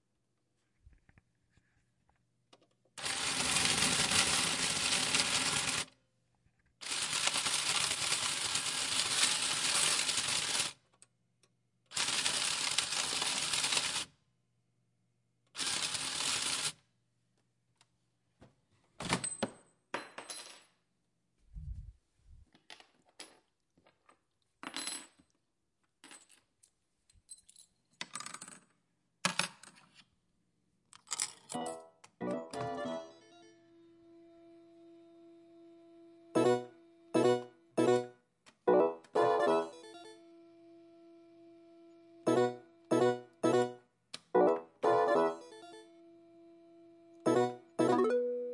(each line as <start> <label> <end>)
3.0 General slot play on Japanese Slot Machine with payout 5.9
6.8 General slot play on Japanese Slot Machine with payout 10.8
11.9 General slot play on Japanese Slot Machine with payout 14.1
15.6 General slot play on Japanese Slot Machine with payout 16.7
31.3 General slot play on Japanese Slot Machine with payout 33.6
36.4 General slot play on Japanese Slot Machine with payout 38.1
38.7 General slot play on Japanese Slot Machine with payout 40.2
42.3 General slot play on Japanese Slot Machine with payout 45.9
47.2 General slot play on Japanese Slot Machine with payout 48.5